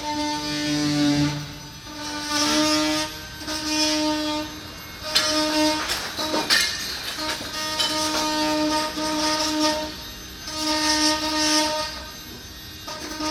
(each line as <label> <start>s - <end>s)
Restoration works 0.3s - 10.0s